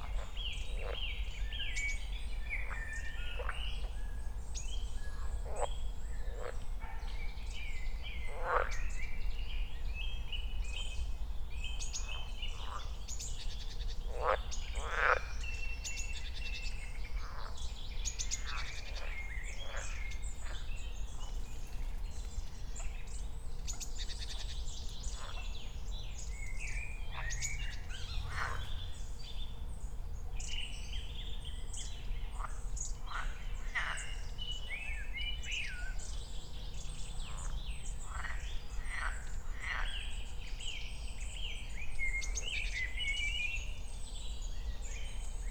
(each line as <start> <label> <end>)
18.4 other birds 29.2